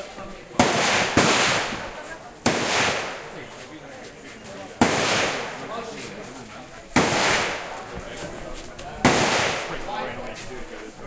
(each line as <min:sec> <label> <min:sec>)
0:00.5 real rounds of AK47, M16, M60 0:03.6
0:04.8 real rounds of AK47, M16, M60 0:05.7
0:06.9 real rounds of AK47, M16, M60 0:07.8
0:09.0 real rounds of AK47, M16, M60 0:10.0